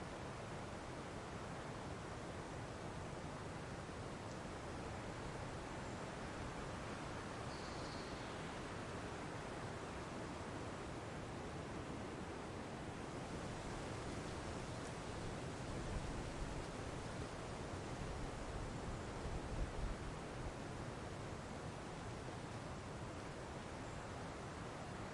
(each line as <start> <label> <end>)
0.0 wind in forest 25.1